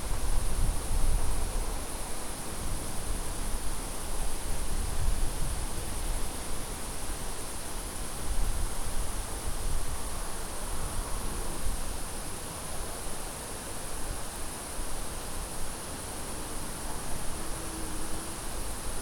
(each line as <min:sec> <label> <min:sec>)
0:00.0 crickets 0:19.0